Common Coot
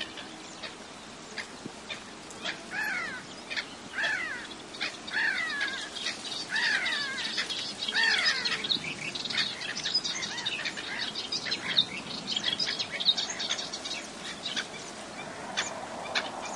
0.0s 8.7s

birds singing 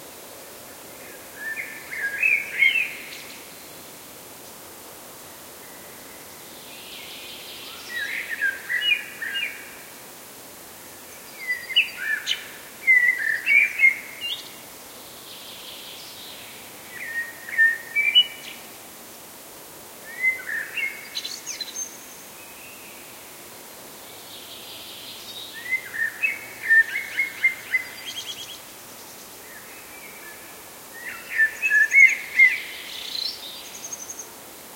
24.4s 34.4s

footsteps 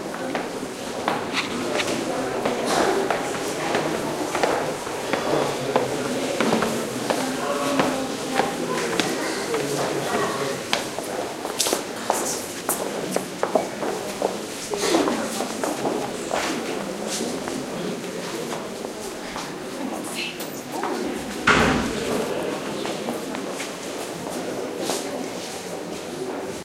0.1s 9.9s

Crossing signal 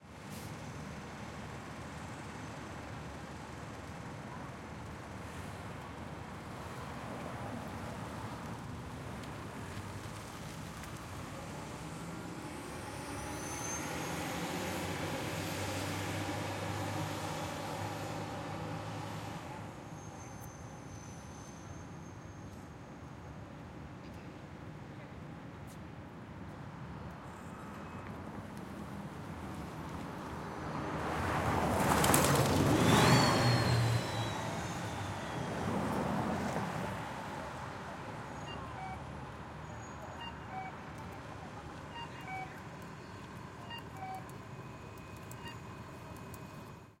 38.3s 47.0s

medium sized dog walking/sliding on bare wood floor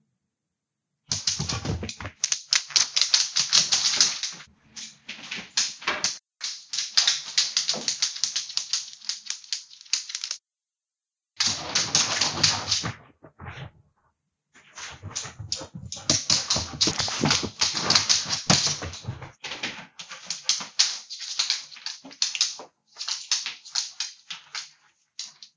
14.6s 20.3s

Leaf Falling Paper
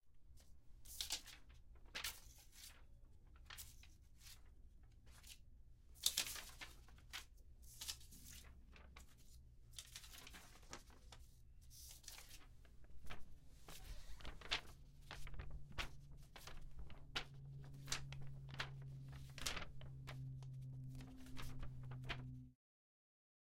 6.0s 11.2s, 11.8s 22.4s

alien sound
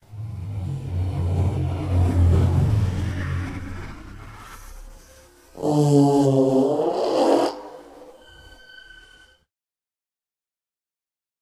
0.0s 8.8s

